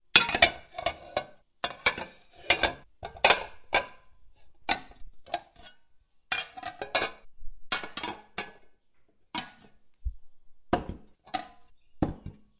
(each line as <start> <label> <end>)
0.1 Plates banging together 4.1
0.2 Cutlery 3.9
6.3 Plates banging together 8.6
10.7 Plates banging together 12.5